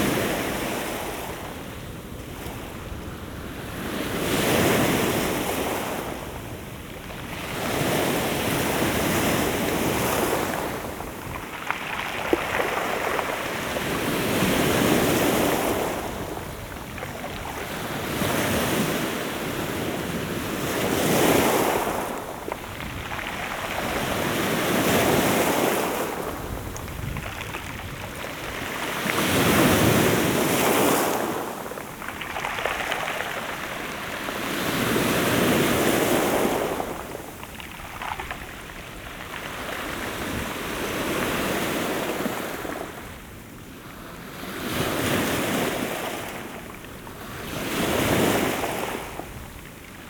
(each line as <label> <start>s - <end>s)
waves on the rocks 0.0s - 50.0s